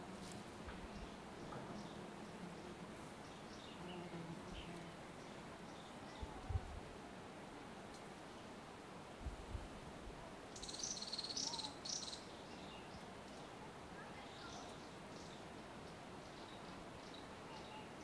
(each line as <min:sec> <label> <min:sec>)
0:00.0 wind 0:18.0
0:04.5 river 0:18.0
0:05.8 human voices from tourists 0:06.9
0:10.1 human voices from tourists 0:15.4
0:10.5 birds 0:18.0
0:17.1 human voices from tourists 0:18.0